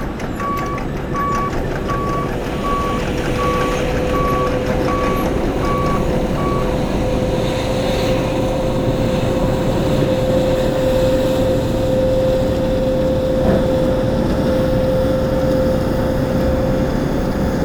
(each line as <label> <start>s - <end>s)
Men and machines resurfacing the road 0.0s - 17.6s